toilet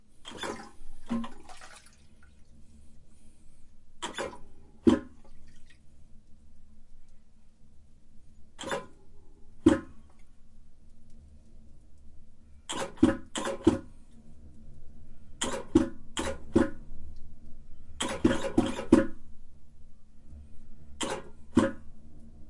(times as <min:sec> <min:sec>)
0:00.2 0:02.7, 0:04.0 0:05.8, 0:15.4 0:16.8, 0:18.0 0:19.2